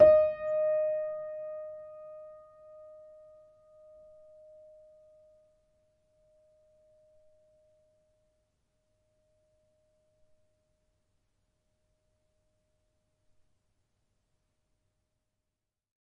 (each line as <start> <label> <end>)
0.0 upright choiseul piano 5.0